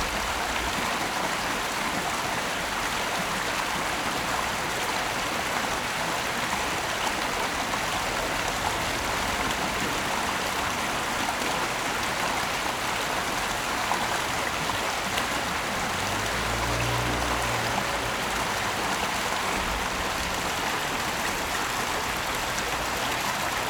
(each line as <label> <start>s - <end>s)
water streams 0.0s - 23.6s
Traffic Sound 12.7s - 23.6s